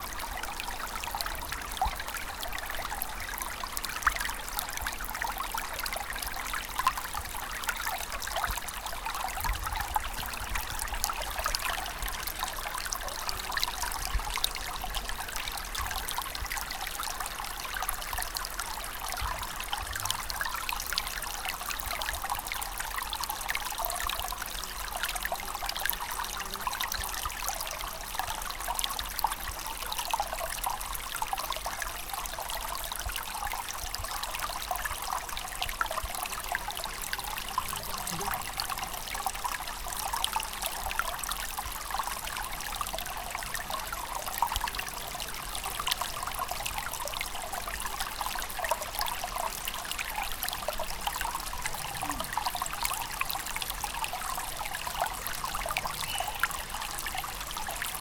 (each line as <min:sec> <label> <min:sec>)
0:00.0 waterfall 0:58.0
0:35.7 Running water 2 0:39.7
0:50.3 Running water 2 0:58.0